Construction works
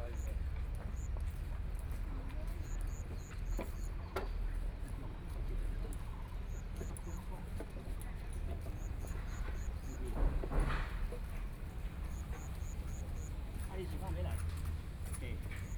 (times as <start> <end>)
8.6 15.7